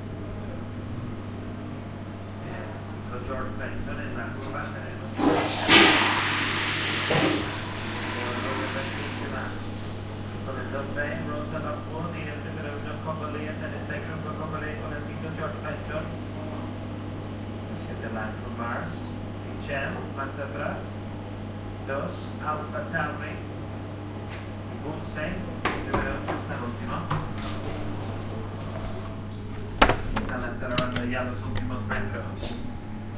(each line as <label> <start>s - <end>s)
flush 5.2s - 9.2s